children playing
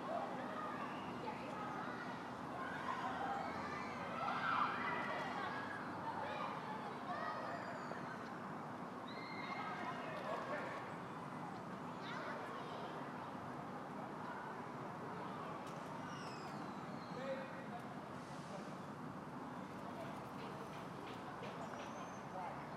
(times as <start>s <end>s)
0.0s 8.4s, 9.0s 16.9s